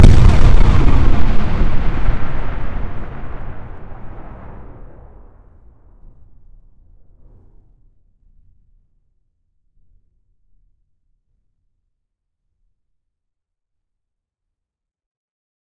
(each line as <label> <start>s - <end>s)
synthetic explosion sound 0.0s - 7.9s
reverberant tail 0.9s - 8.5s